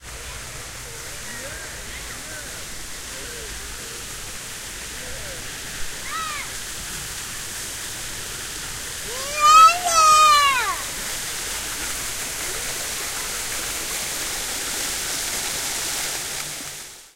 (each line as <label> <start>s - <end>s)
splashing fountains 0.0s - 17.1s
talk 0.2s - 6.5s
yells and shouts in the distance 4.9s - 6.6s
yells and shouts in the distance 8.9s - 11.0s
talk 9.0s - 10.9s
baby 9.1s - 10.8s